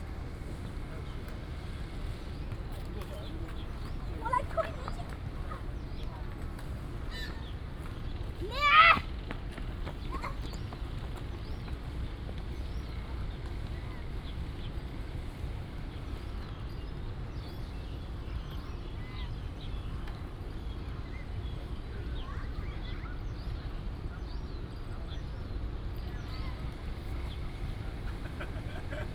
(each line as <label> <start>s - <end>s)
Bird sounds 0.0s - 29.1s